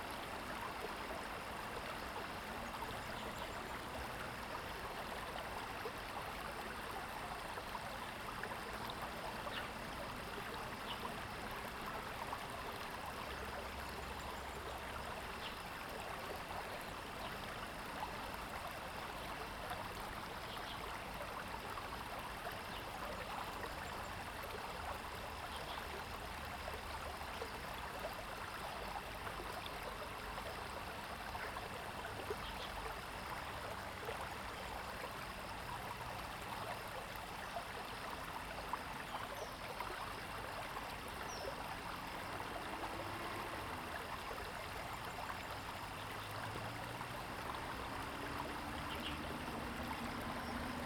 Stream sound 0.0 - 50.8

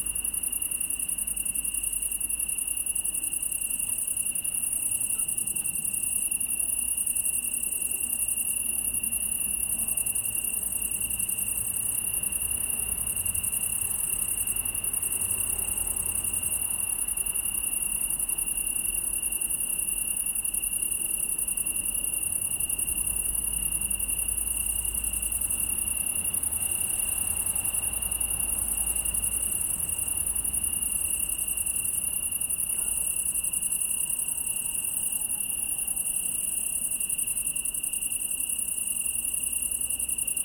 Italian tree cricket (Oecanthus pellucens) 0.0 - 40.4

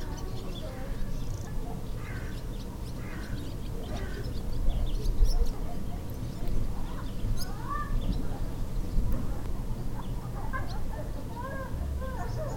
distant crows 0.0 - 5.8
group of newcomers joining on the meadow 0.0 - 12.5
wind moves 0.0 - 12.5

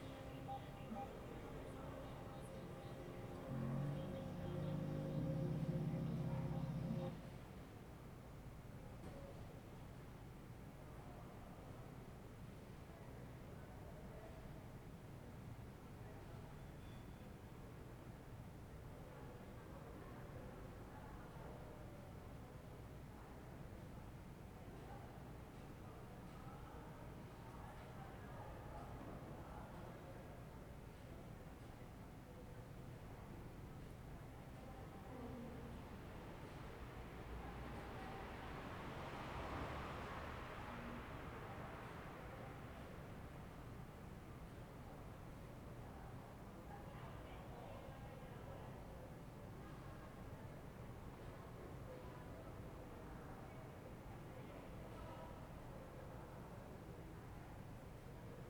video in background 0.0 - 7.2

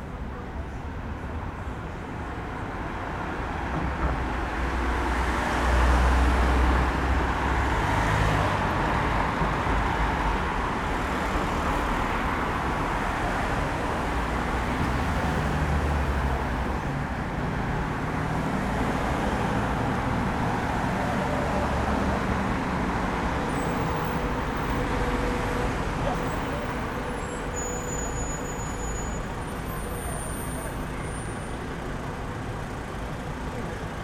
cars on the road 0.0 - 34.0

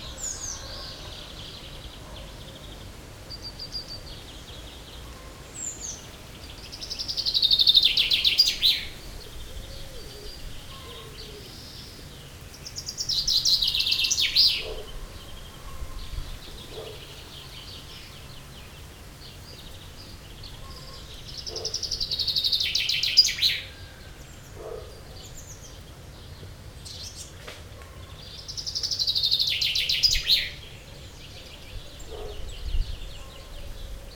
Chaffinch singing 0.0 - 34.1

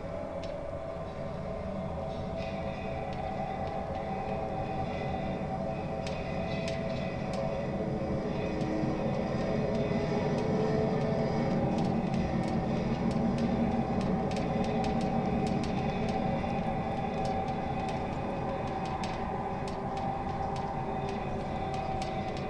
pedestrian suspension bridge mainstay cables 0.0 - 22.4

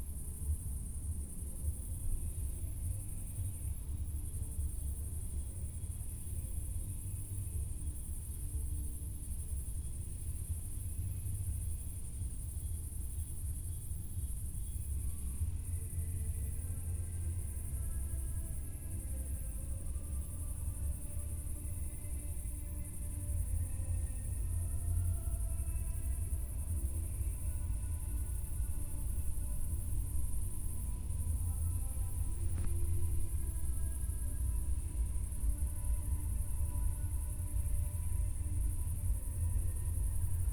cricket 0.0 - 40.5
music from a distant party 12.8 - 40.5

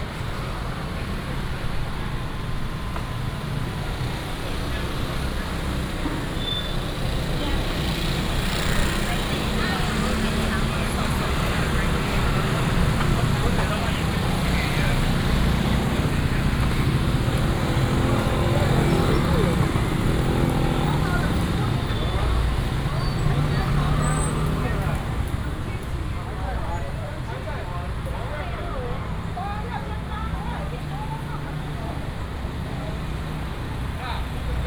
Many motorcycles 0.0 - 34.6
Traffic sound 0.0 - 34.6
Walking through the traditional market 0.0 - 34.6

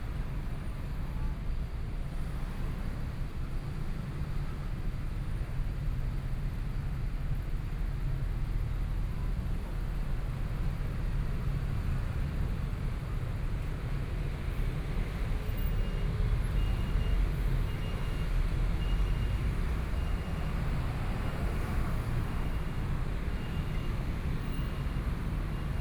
Traffic Sound 11.6 - 25.8

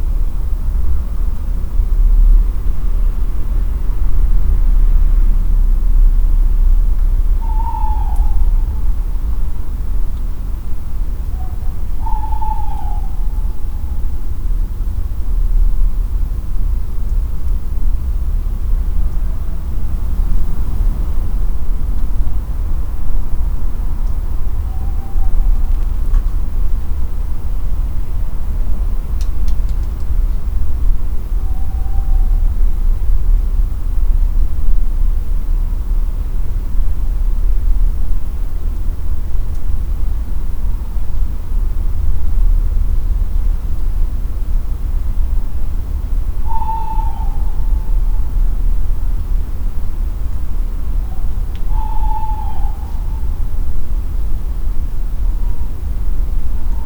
owls are calling 7.2 - 9.9
owls are calling 10.7 - 14.7
owls are calling 23.7 - 26.5
owls are calling 31.1 - 33.0
owls are calling 46.0 - 54.4
owls are calling 55.0 - 56.8

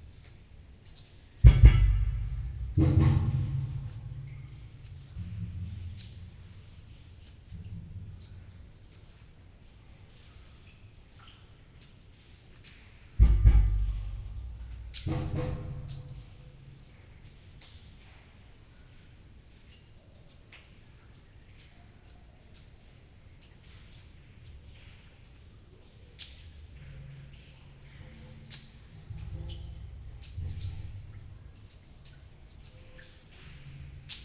redundant impacts 1.4 - 4.8
redundant impacts 13.2 - 16.4

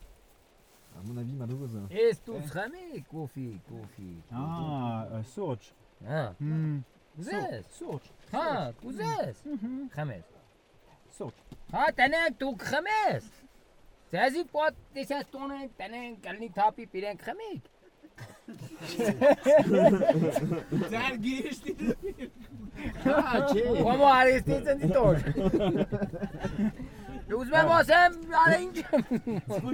violent storm 18.6 - 29.7
farmer called Samo is speaking so loud 27.2 - 28.9

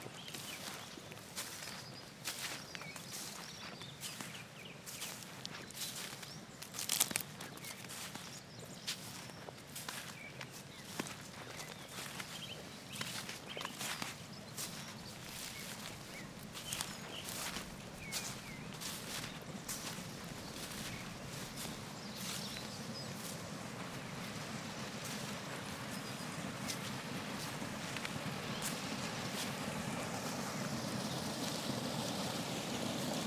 Walking through frosty bogs 0.0 - 33.2

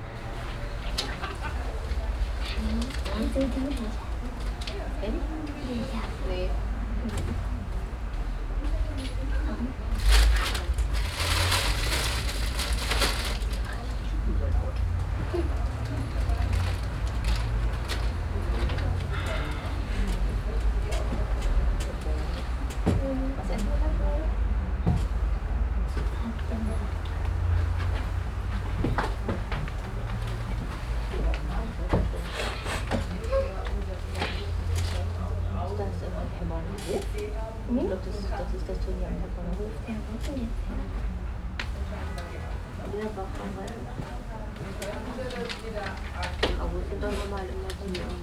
whispering voices of waiting people 0.0 - 48.2
steps in the hallway 12.8 - 48.2

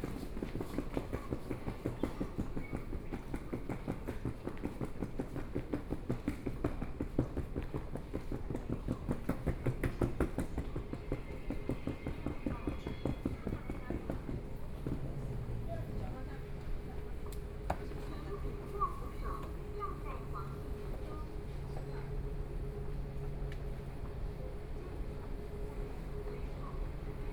walking in the station 0.0 - 27.3

